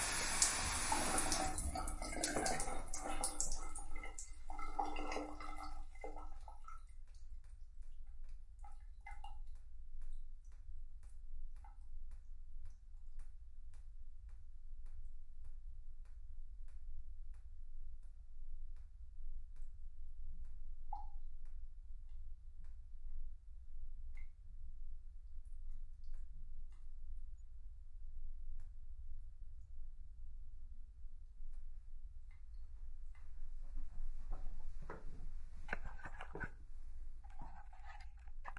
water going down my shower drain 0.0 - 10.1
water going down my shower drain 32.2 - 38.5

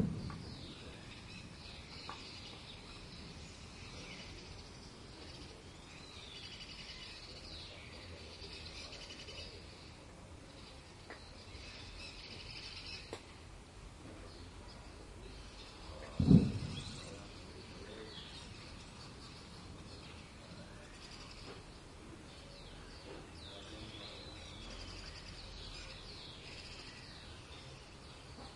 distant traffic 0.0 - 28.5
soft voices 14.0 - 26.9

